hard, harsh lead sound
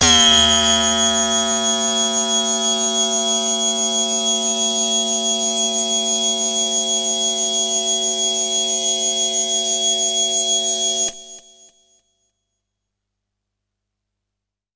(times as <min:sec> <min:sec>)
0:00.0 0:07.5